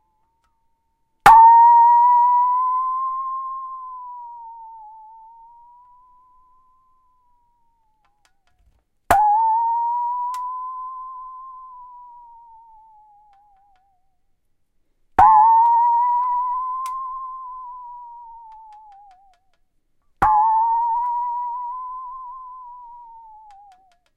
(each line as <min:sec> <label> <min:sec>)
0:20.2 rubber mallet 0:24.1